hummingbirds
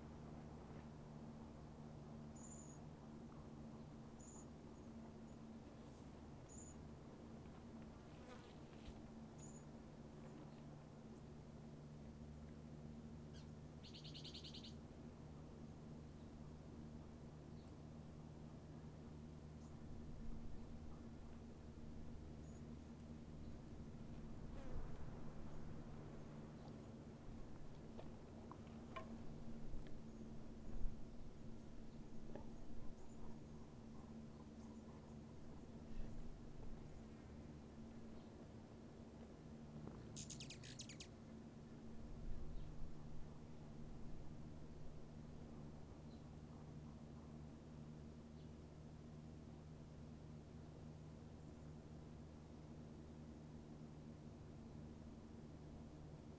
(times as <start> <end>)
2.1 7.3, 12.4 38.5, 39.8 41.4